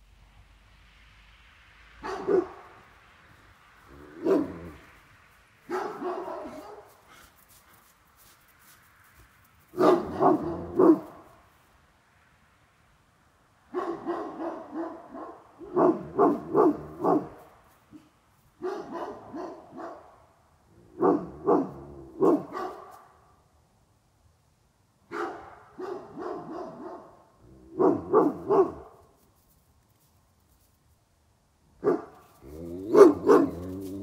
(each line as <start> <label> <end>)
2.0 Irish wolfhound 2.7
2.0 Finnish hound barking 2.8
3.9 Irish wolfhound 4.9
4.0 Finnish hound barking 4.8
5.6 Finnish hound barking 7.2
5.7 Irish wolfhound 8.4
9.7 Finnish hound barking 11.3
9.7 Irish wolfhound 11.3
13.7 Finnish hound barking 20.2
13.7 Irish wolfhound 20.2
20.9 Finnish hound barking 23.1
21.0 Irish wolfhound 23.1
25.1 Finnish hound barking 29.0
25.1 Irish wolfhound 29.0
31.8 Finnish hound barking 34.0
31.8 Irish wolfhound 34.0